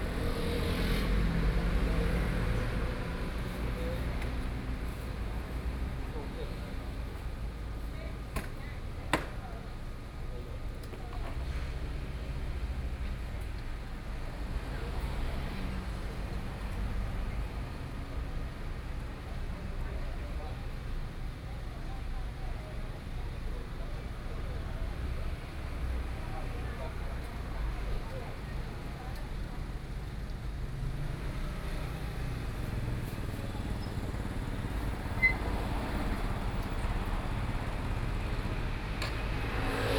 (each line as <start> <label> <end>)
0.0 Traffic Sound 7.6
24.7 Traffic Sound 39.9